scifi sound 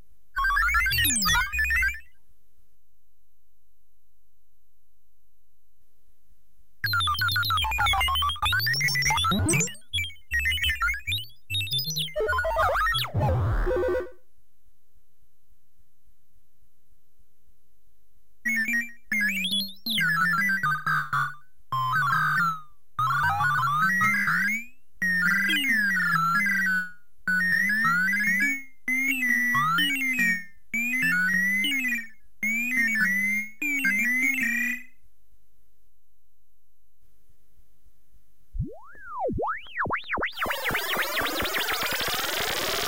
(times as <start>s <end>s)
38.6s 42.8s